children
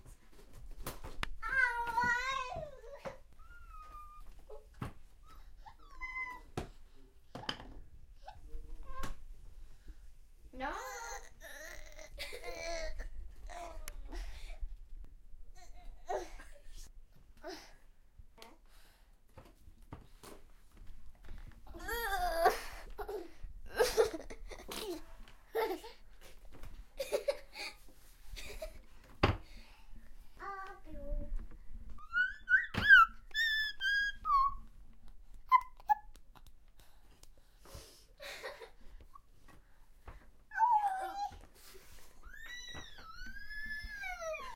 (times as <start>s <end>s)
1.0s 6.8s, 29.6s 34.8s, 40.5s 44.5s